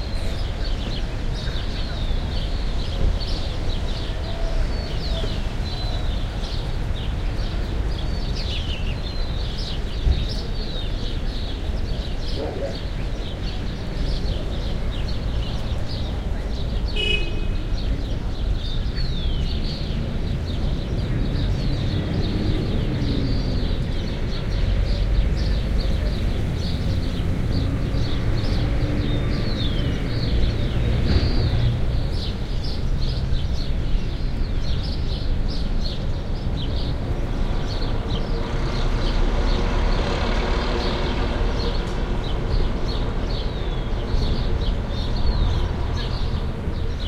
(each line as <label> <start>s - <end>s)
birds chirping 0.0s - 47.0s
traffic in the background 0.0s - 47.0s
locals talking 9.2s - 32.2s